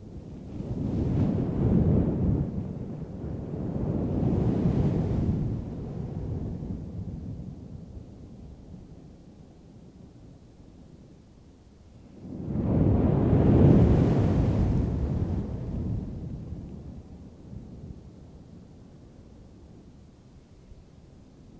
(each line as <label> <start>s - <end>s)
Ocean Waves 12.6s - 16.2s